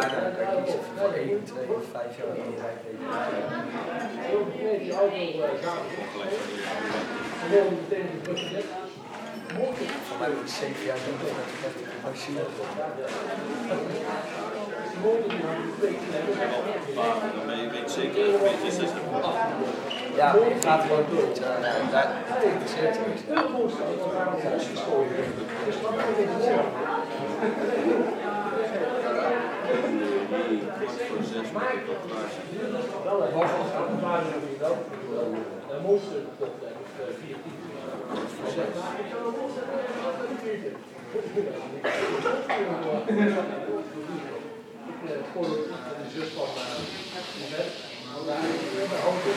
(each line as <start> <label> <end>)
0.0 people talk 49.3
46.1 sizzling wok sounds 49.3